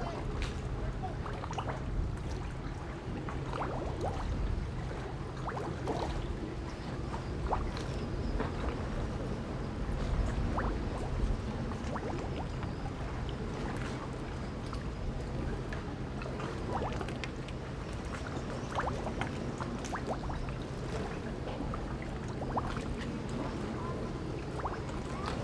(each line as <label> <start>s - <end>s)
Waves and tides 0.0s - 25.4s